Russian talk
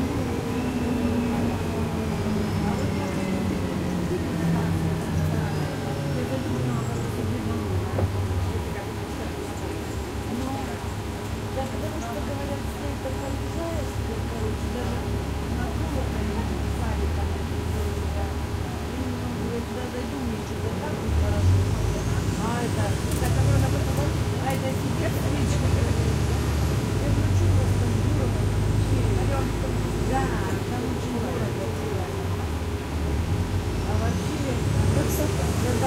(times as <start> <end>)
26.9 32.3